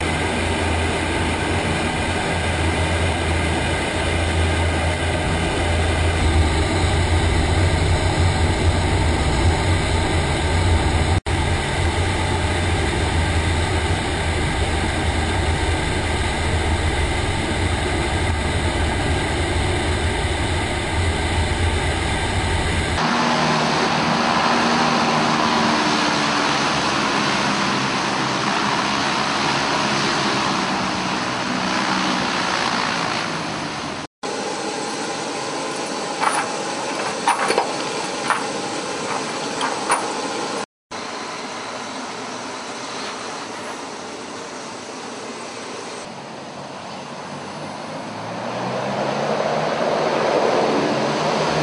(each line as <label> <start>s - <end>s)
LCAC Air Cusion Hovercraft 0.0s - 51.6s